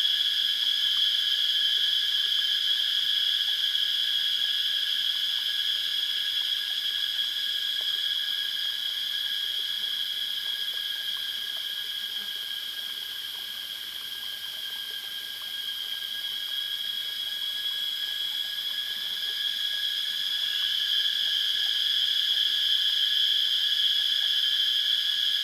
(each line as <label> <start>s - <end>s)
Cicada sounds 0.0s - 25.4s
Small streams 0.0s - 25.4s